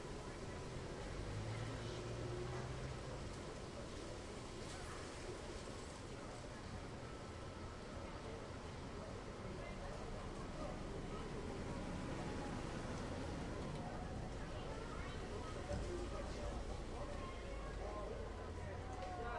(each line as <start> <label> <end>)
0.0 passing trucks 6.2
0.0 din of many conversations 19.3
6.8 passing trucks 19.3